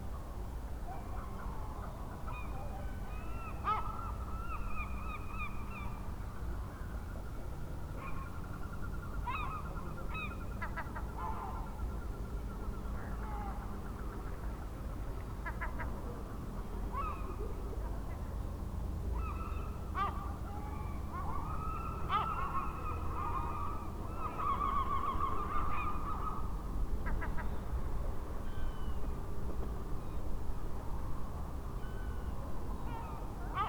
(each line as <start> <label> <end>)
19.2 seagulls 26.4
32.9 seagulls 33.6